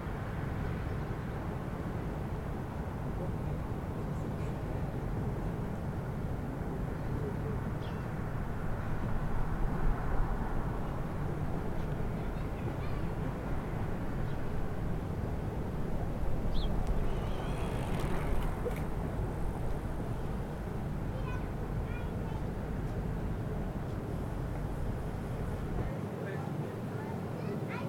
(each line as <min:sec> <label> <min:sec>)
0:15.0 les passants 0:27.8
0:16.1 bruit de la ventilation du restaurant bar 0:21.3
0:16.4 circulation sur la route voisine 0:21.0